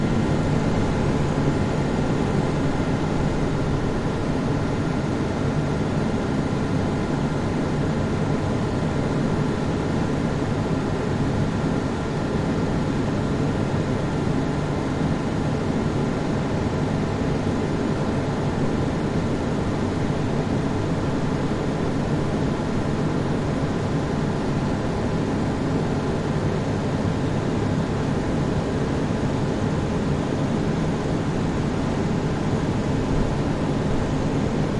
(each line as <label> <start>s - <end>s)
Fan Ventilation 0.0s - 34.7s